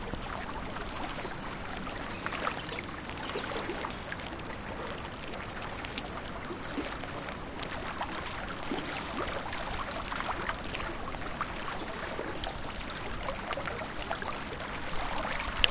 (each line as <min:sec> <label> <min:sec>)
0:00.0 Birds quietly in background 0:07.4
0:00.0 Lake gently lapping the shore 0:15.7
0:09.0 Birds quietly in background 0:15.4